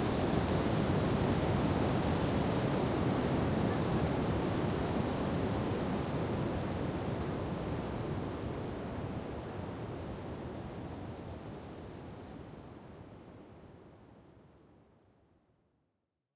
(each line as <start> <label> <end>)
0.0 wind 15.6